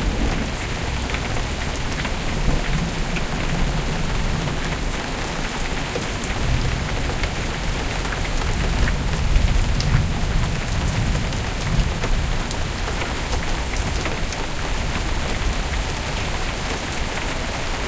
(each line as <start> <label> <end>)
0.0 thunder 4.7
0.0 Heavy Rain 17.8
0.0 wind 17.8